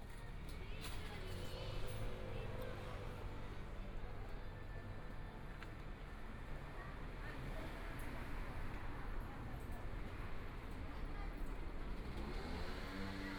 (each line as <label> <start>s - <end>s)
walking In the Street 0.0s - 13.3s